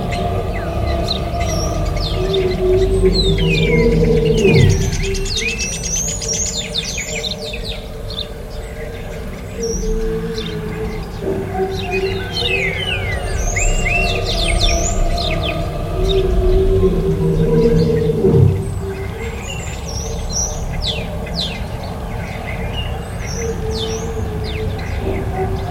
0.0s Birds 25.7s

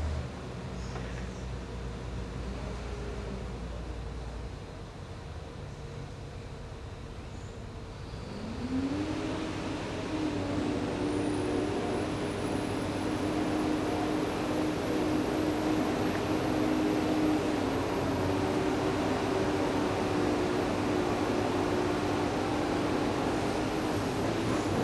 8.4s construction work 24.8s

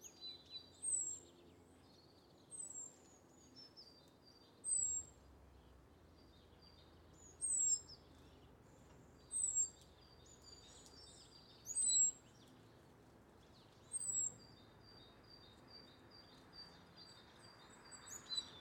0.0s starlings 5.2s
0.0s blackbird taking their breakfast in the grass 18.6s
6.1s starlings 12.8s
13.4s starlings 18.6s

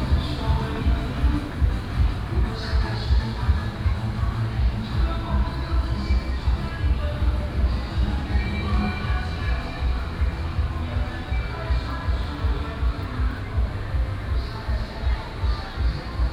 0.0s Traditional and modern variety shows 16.3s

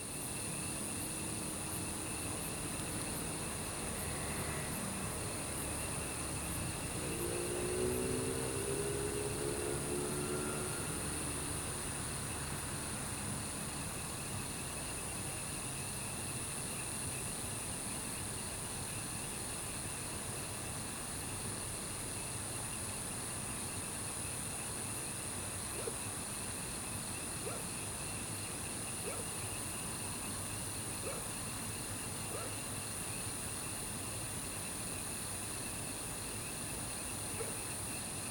0.0s Insects sounds 38.3s
27.2s Frogs chirping 38.0s
27.4s Dogs barking 27.8s
29.0s Dogs barking 29.4s
31.0s Dogs barking 31.4s
32.3s Dogs barking 32.6s
37.4s Dogs barking 37.6s

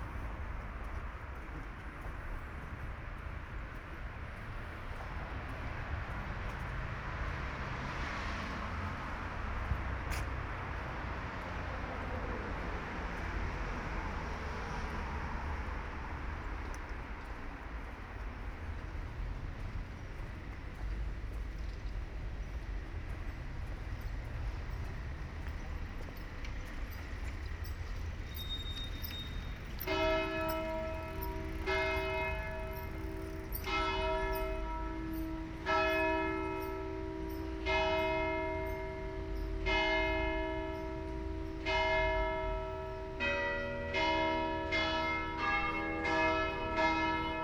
23.2s bells 47.4s

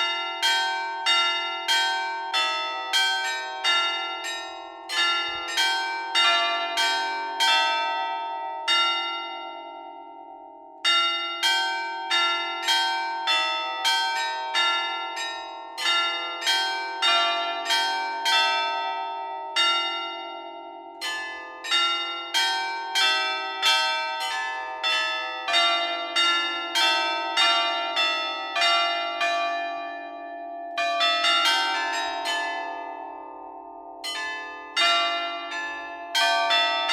0.0s Carillon de l'hôtel de ville 36.9s

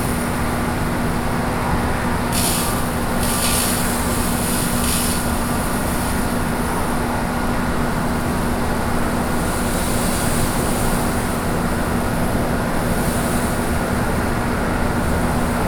0.0s building air-conditioner 15.6s
2.3s Sprinkler 6.5s

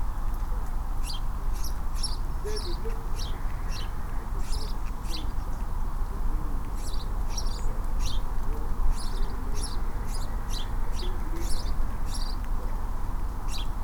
1.0s Sparrows 5.7s
6.8s Sparrows 12.6s
13.4s Sparrows 13.8s

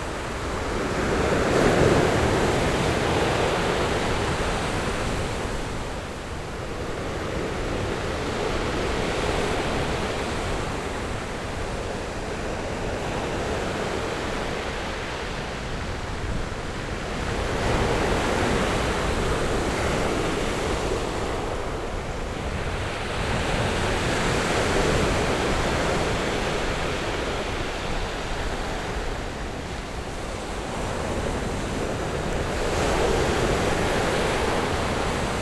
0.0s waves 35.4s

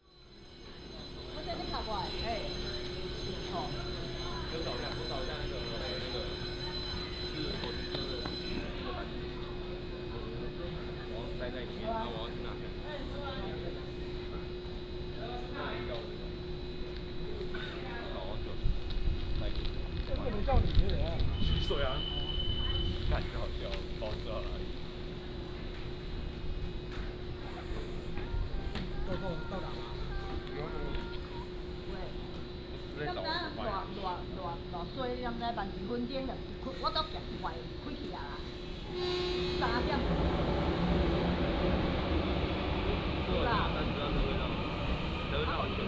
0.0s train leaves the station 45.8s
0.2s Station broadcasting 11.0s
38.6s Station broadcasting 45.8s

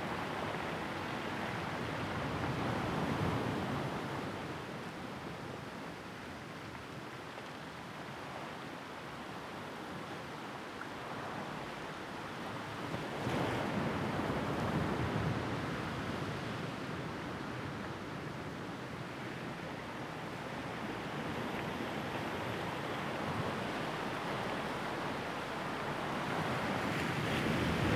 18.9s waves on pebble-beach2 27.9s

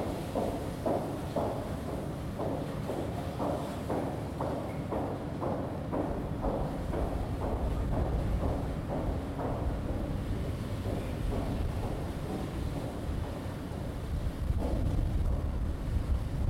0.0s two trains above 16.4s

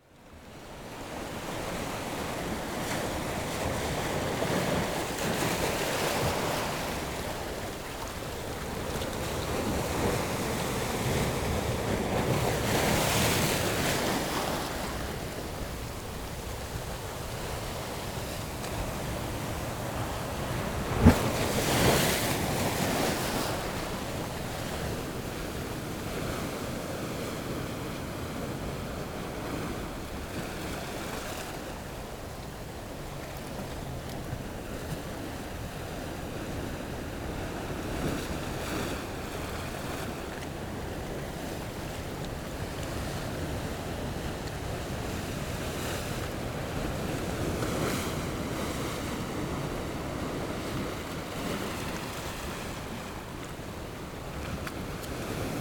0.0s waves 55.6s

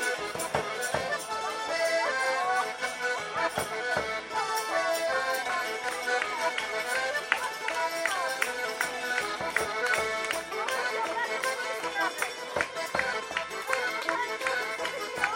0.0s Potańcówka 15.3s

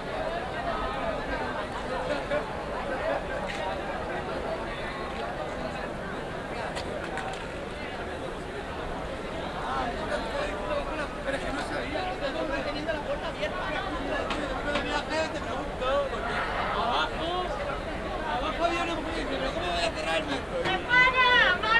7.8s youths block the gate of the metro station 21.7s

